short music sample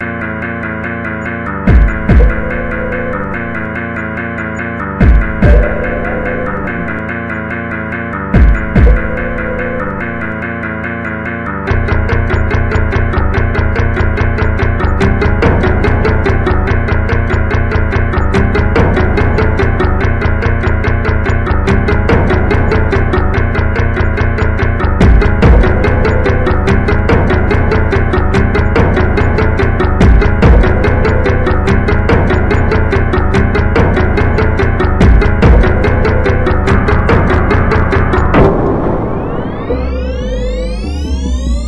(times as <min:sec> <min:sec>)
0:05.0 0:07.5, 0:11.5 0:41.6